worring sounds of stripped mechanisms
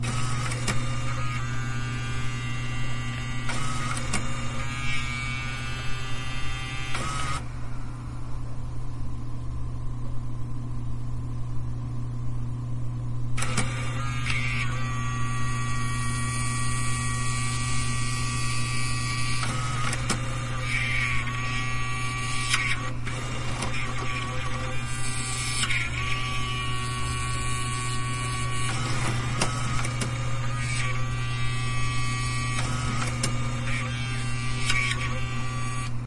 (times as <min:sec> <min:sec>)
0:00.0 0:02.4, 0:03.4 0:06.2, 0:13.4 0:15.0, 0:19.3 0:35.9